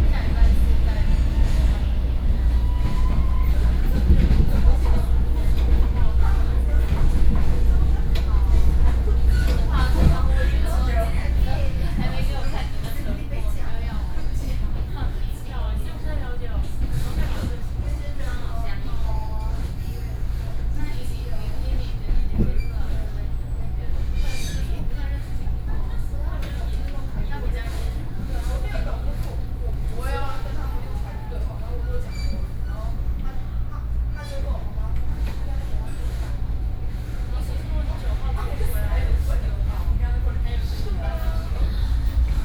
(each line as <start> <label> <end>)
0.0 Ordinary train 42.4